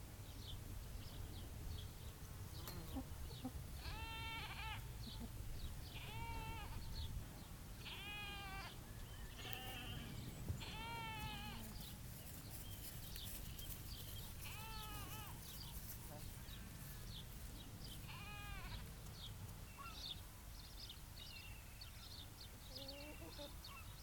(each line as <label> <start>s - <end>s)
chickens clucking 2.7s - 3.6s
Lamb and sheep calling to each other 3.8s - 4.9s
Lamb and sheep calling to each other 6.0s - 6.8s
Lamb and sheep calling to each other 7.8s - 11.7s
Lamb and sheep calling to each other 14.4s - 15.5s
Lamb and sheep calling to each other 18.0s - 18.9s
chickens clucking 22.7s - 23.6s